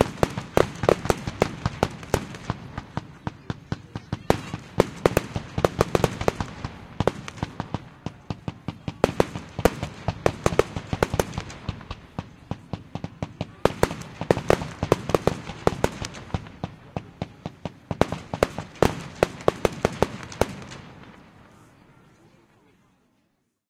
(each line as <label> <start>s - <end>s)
fireworks impact16 0.0s - 22.2s